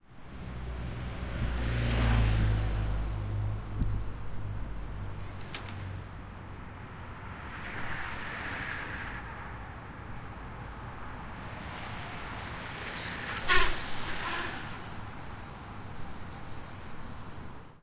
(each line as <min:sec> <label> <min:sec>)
0:07.0 bike race 0:09.8
0:11.8 bike race 0:15.0
0:12.8 squeaky brakes 0:15.0